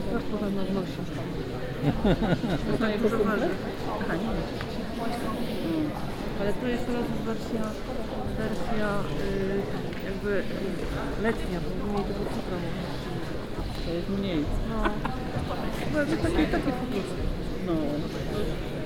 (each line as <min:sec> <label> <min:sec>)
0:00.0 crowd gathering before contemporary music concert 0:18.8